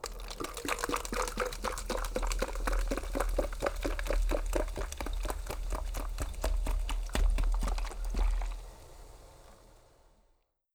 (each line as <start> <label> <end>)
0.0 soda pouring 10.1